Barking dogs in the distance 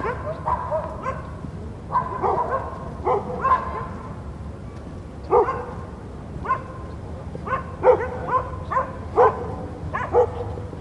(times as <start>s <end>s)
0.0s 4.1s, 5.3s 5.8s, 6.4s 6.8s, 7.4s 10.7s